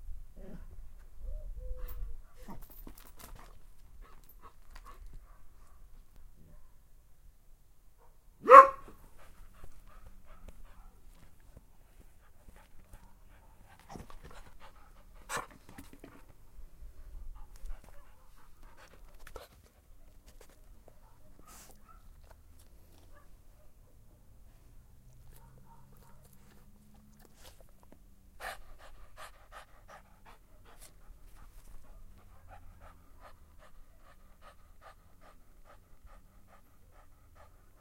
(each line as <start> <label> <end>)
1.7 mixed-breed dog 6.8
8.0 mixed-breed dog 37.8
8.4 barking 9.0
25.3 barking 26.5
28.4 panting 37.8